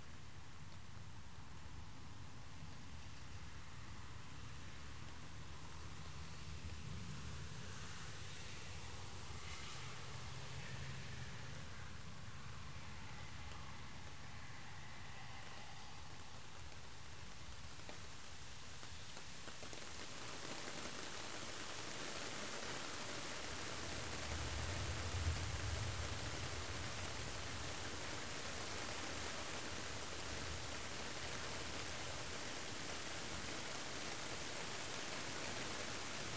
rain on the plastic roof of partytent 0.0 - 36.3
car passing by on wet pavement 6.2 - 18.2
car passing by on wet pavement 21.3 - 36.3

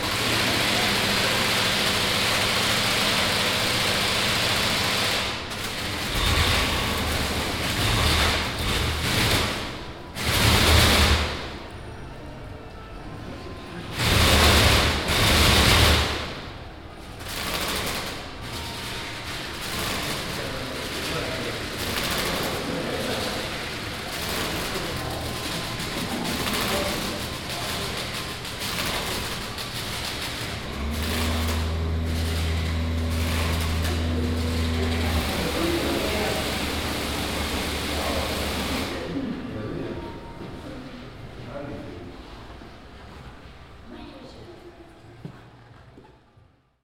plastic bag motor installation 17.3 - 39.0

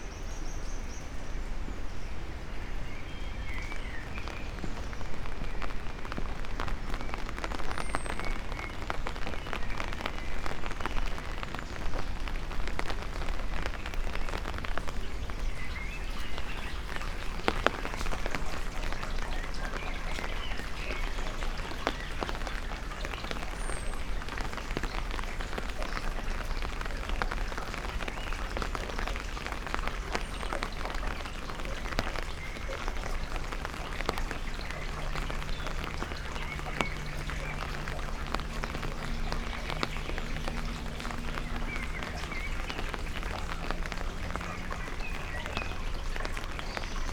raindrops 0.0 - 47.1

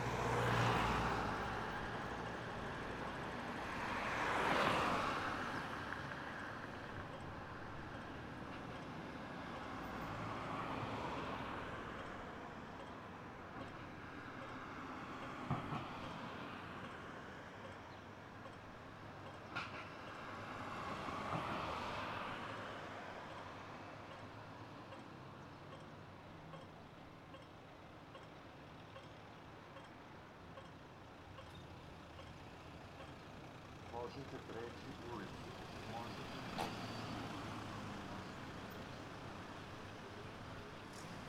Audible traffic sign with voice announcement 33.6 - 36.7

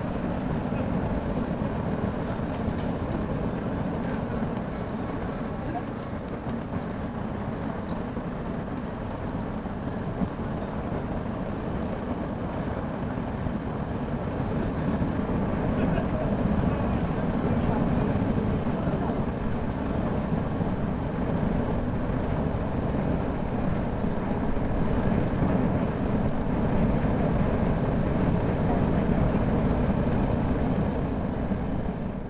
big gas burner 0.0 - 32.2

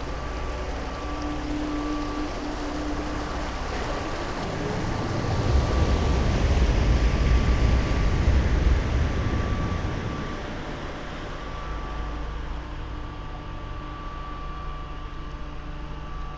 ships passing-by 0.0 - 12.1

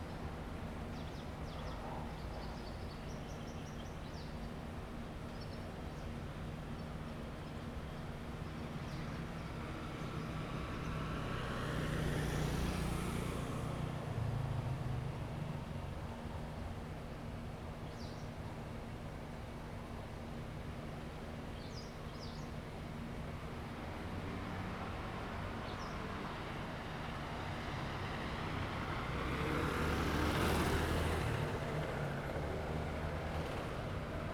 Traffic sound 8.2 - 18.1
Traffic sound 22.7 - 34.3

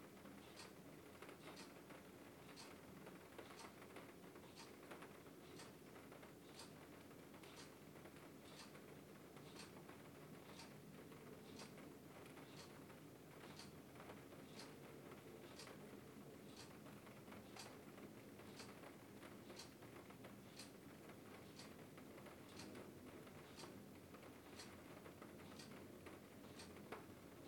Rain falls on the sunroof 0.0 - 27.4
clock ticks 0.4 - 0.7
clock ticks 1.4 - 1.8
clock ticks 2.5 - 2.8
clock ticks 3.4 - 3.8
clock ticks 4.5 - 4.7
clock ticks 5.4 - 5.8
clock ticks 6.5 - 6.8
clock ticks 7.4 - 7.7
clock ticks 8.4 - 8.8
clock ticks 9.4 - 9.8
clock ticks 10.4 - 10.8
clock ticks 11.4 - 11.8
clock ticks 12.4 - 12.8
clock ticks 13.4 - 13.8
clock ticks 14.5 - 14.8
clock ticks 15.5 - 15.8
clock ticks 16.5 - 16.8
clock ticks 17.4 - 17.8
clock ticks 18.4 - 18.8
clock ticks 19.5 - 19.8
clock ticks 20.5 - 20.8
clock ticks 21.4 - 21.8
clock ticks 22.5 - 23.8
clock ticks 24.4 - 24.8
clock ticks 25.5 - 25.8
clock ticks 26.5 - 27.4

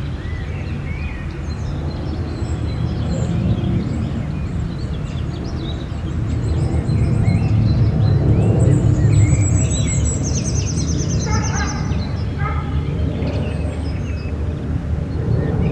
birds singing in background 0.0 - 15.7
plane 0.0 - 15.7
dogs are barking 11.2 - 12.8

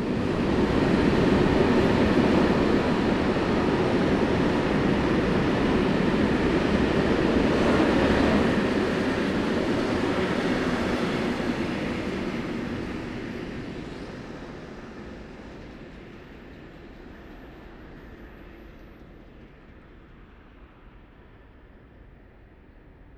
freight train rushes through 0.0 - 22.6
suburb trains arrive and depart 0.0 - 23.1

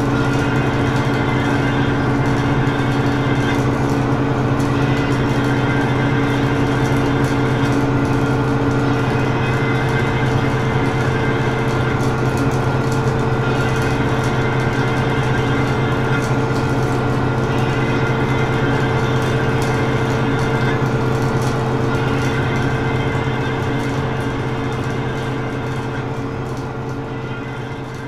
elevated tube doing strange noises 0.0 - 28.0

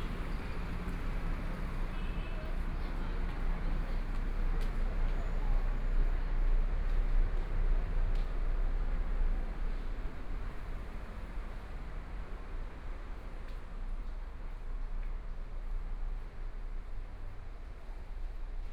Traffic Sound 0.0 - 5.6
Pedestrians on the road 0.0 - 18.7

